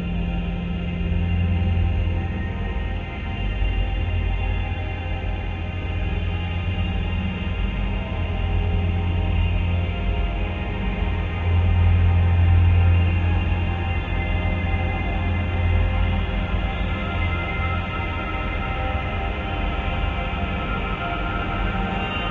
slowly evolving dreamy ambient drone pad 0.0 - 22.3

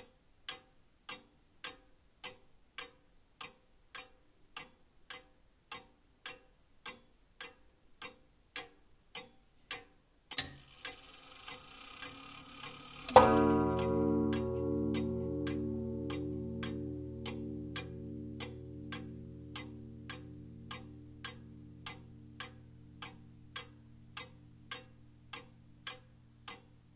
slightly irregular tick-tock sound 0.0 - 26.9
winding-up sound 10.4 - 13.2

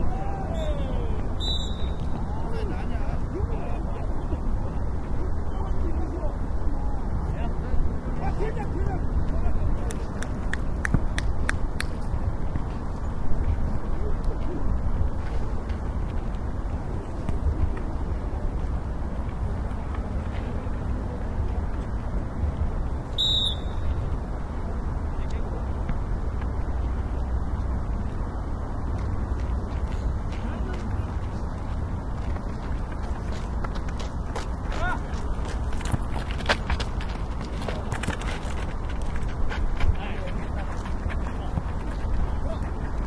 voice 0.0 - 1.3
Football match amateur 0.0 - 43.0
Traffic in the background 0.0 - 43.0
whistle 1.4 - 2.0
voice 2.3 - 10.3
whistle 23.2 - 23.9
voice 34.7 - 35.2
voice 39.9 - 41.6
voice 42.3 - 43.0

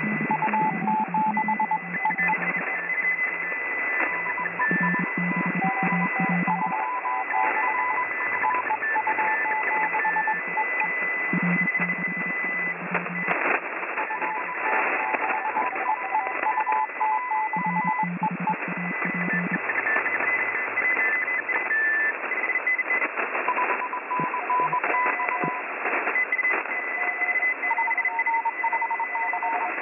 CW (Morse) transmissions across a wide band 0.0 - 29.8

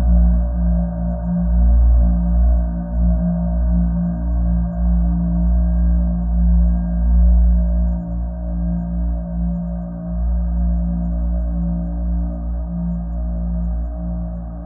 slow dark drone 0.0 - 14.6

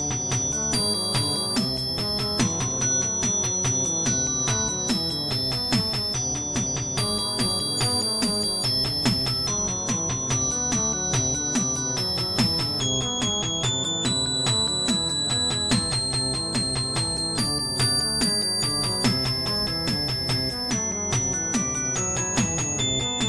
beat 0.0 - 23.2

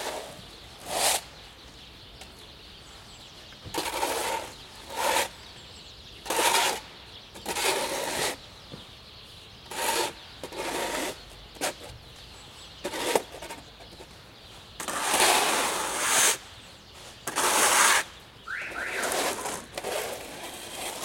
bird 0.0 - 21.0
winter snow removal 17.3 - 21.0

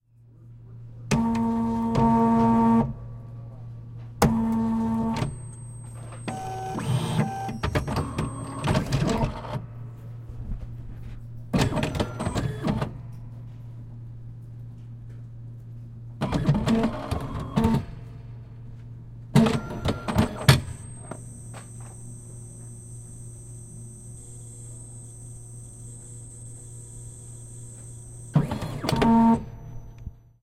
tape-binder 19.4 - 30.3

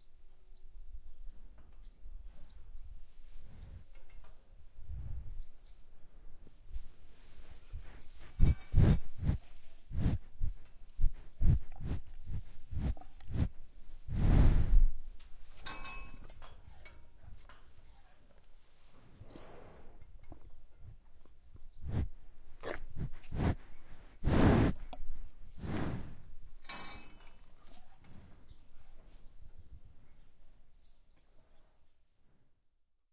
Breath of cow 6.8 - 15.0
Breath of cow 21.8 - 26.4

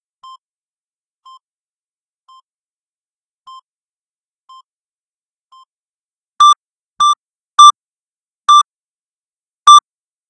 flat lining beeps 6.4 - 7.7

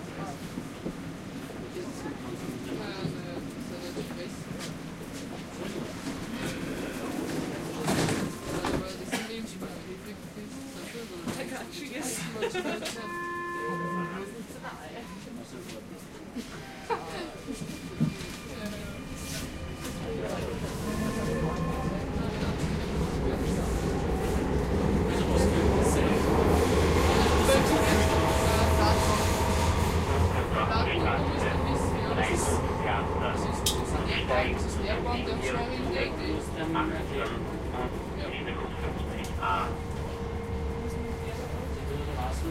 crowded subway (metro) train 0.0 - 42.5
people talking 1.6 - 4.7
people talking 5.4 - 39.9
announcements 12.6 - 15.5
announcements 17.5 - 42.5
people talking 40.8 - 42.5

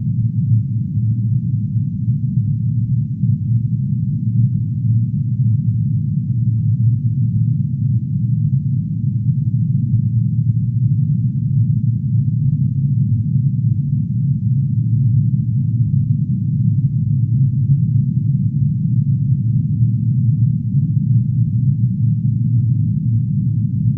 low frequency drone like sound which builds up slowly 0.0 - 23.9

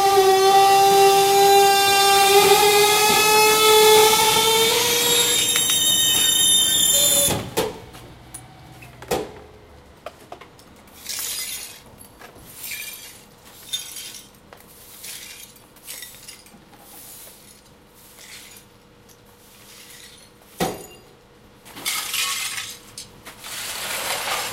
truck engine 0.0 - 11.0
dump truck compressing/destroying bulk trash 2.3 - 14.1
dump truck compressing/destroying bulk trash 21.7 - 24.5

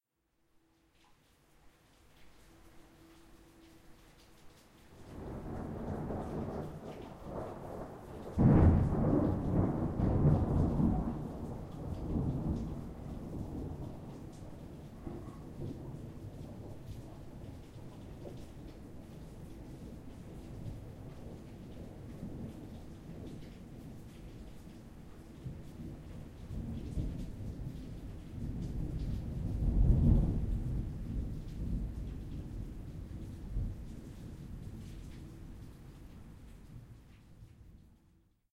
rain 0.5 - 38.4
wind 0.9 - 38.2
Strong thunder clap 5.2 - 14.2
Strong thunder clap 28.4 - 33.8

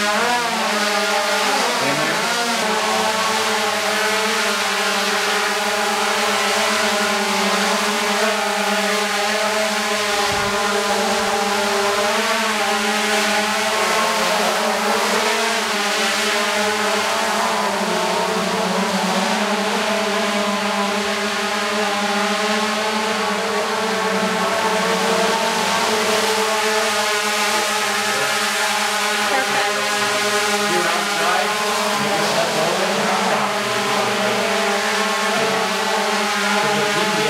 drone aircraft being operated 0.0 - 37.2

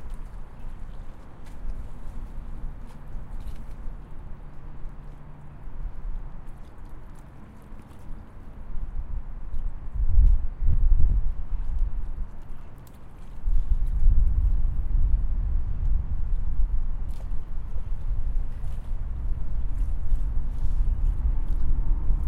Water Lapping Dock 0.0 - 10.0
Water Lapping Dock 11.3 - 14.9
Water Lapping Dock 16.1 - 22.2

